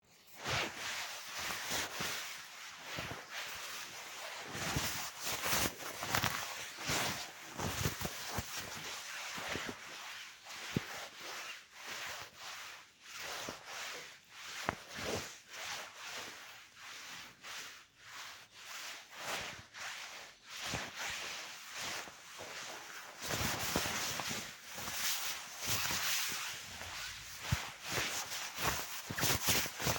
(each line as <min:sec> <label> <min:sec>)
0:00.2 clothes rustling 0:16.4
0:02.9 walking movements 0:09.8
0:18.7 clothes rustling 0:29.9
0:22.0 walking movements 0:29.9